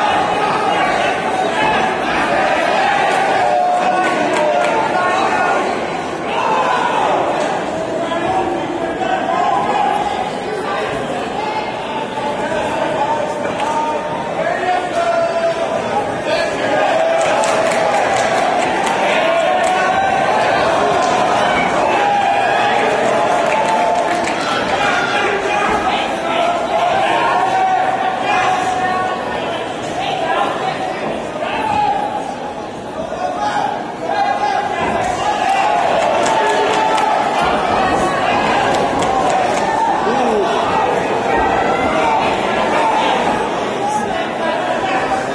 17.2s clapping 19.0s
23.4s clapping 24.8s
33.5s English cheering sounds 43.2s
36.0s clapping 37.2s

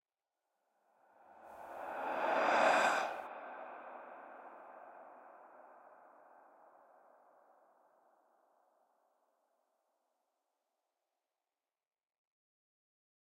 1.2s whoosh 5.4s

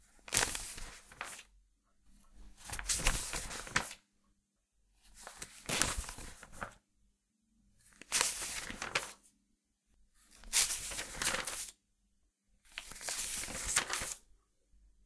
0.0s Softer pages turning over 1.5s
2.2s Softer pages turning over 4.0s
5.0s Softer pages turning over 6.8s
7.8s Softer pages turning over 9.3s
10.2s Softer pages turning over 11.8s
12.7s Softer pages turning over 14.2s

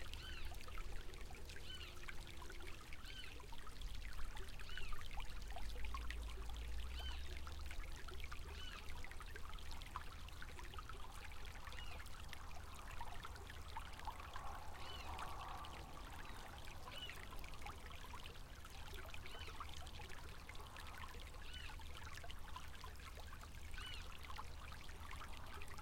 0.0s small river 25.8s

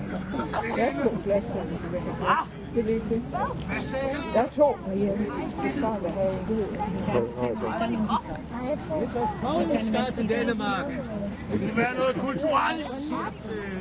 0.0s crowd 13.8s

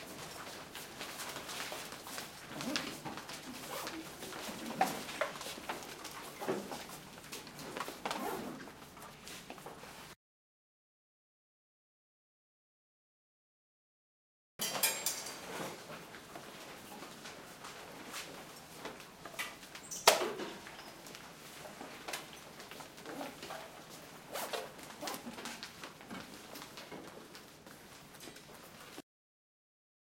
0.0s pens 8.1s
0.0s students get up from desks 10.2s
14.9s students get up from desks 29.0s

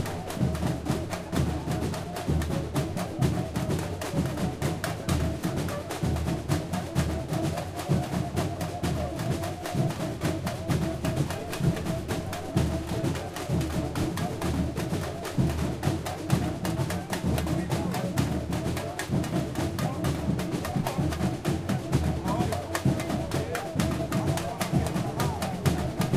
0.0s cuicas 26.1s
0.0s puxador is singing 26.1s
0.0s shakers 26.1s
0.0s snare drums 26.1s
0.0s tamborims 26.1s

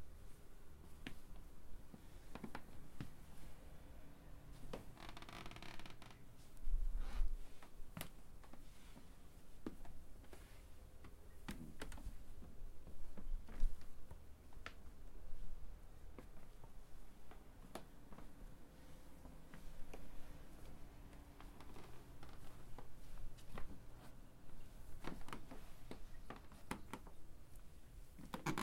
4.6s Walking on a wooden creaky floor 6.2s
19.2s Walking on a wooden creaky floor 24.2s
24.8s Walking on a wooden creaky floor 27.2s

